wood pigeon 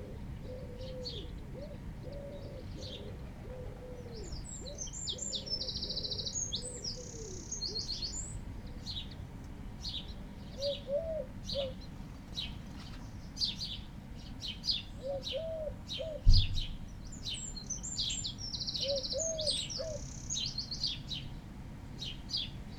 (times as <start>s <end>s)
0.0s 7.4s, 15.0s 16.8s